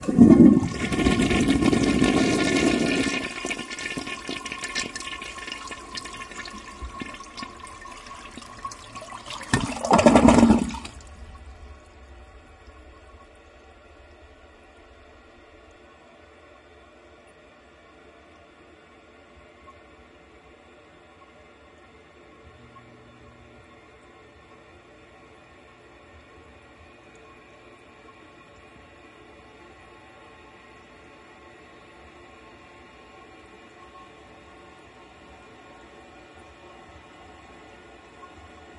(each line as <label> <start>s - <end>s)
gurgle 0.0s - 13.7s
flush 0.0s - 16.8s